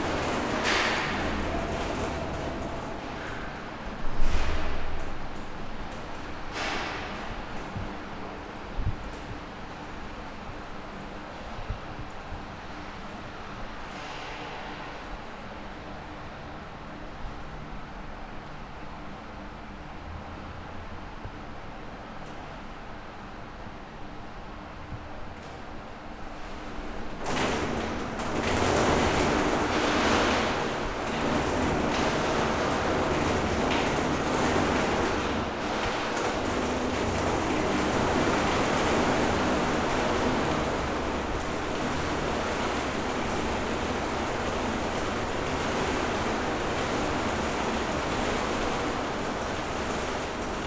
elevator goes down 0:00.0 - 0:18.2
elevator goes down 0:25.0 - 0:50.6
downpour smashes on the lid leading to the roof 0:26.3 - 0:50.6
very heavy rain outside 0:26.3 - 0:50.6

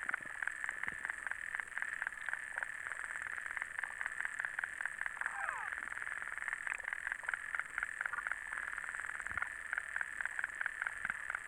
lake underwater 0:00.0 - 0:11.4

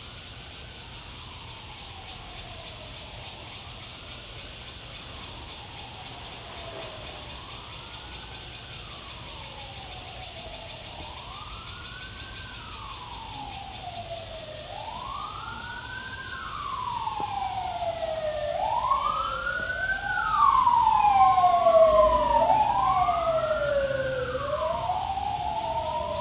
Cicadas cry 0:00.0 - 0:26.2
Traffic Sound 0:12.7 - 0:26.2

